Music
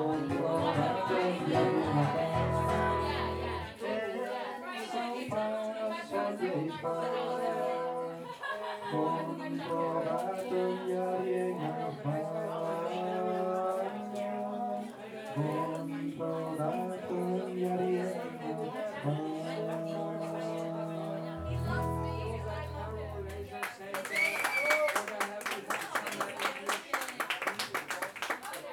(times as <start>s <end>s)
0.0s 3.9s, 5.2s 23.5s